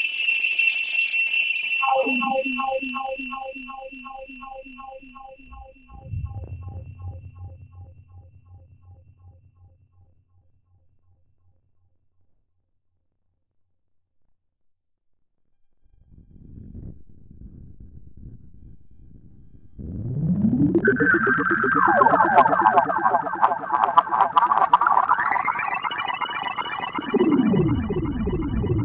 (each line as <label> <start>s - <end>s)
drone 1.6s - 10.1s
drone 15.8s - 28.8s